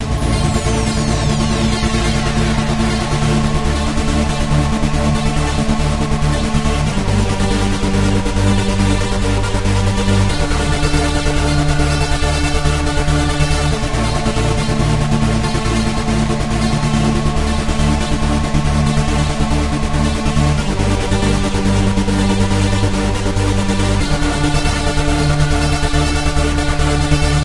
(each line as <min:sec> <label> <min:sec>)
0:00.0 Gothic choir 0:27.4